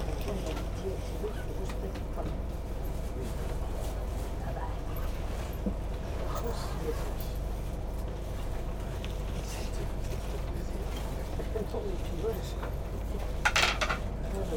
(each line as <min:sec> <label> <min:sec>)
0:00.0 train 0:14.5